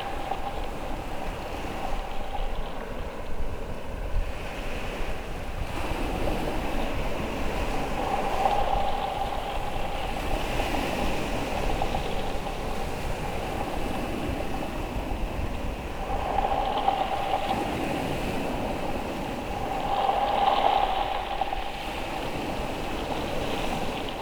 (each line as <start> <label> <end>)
0.0 Waves sounding in and around a bleached tree trunk 24.2